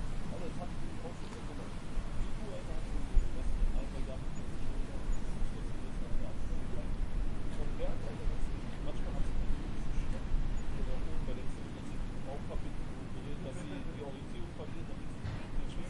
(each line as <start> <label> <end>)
0.0 street noise 15.8
0.0 wind noise 15.8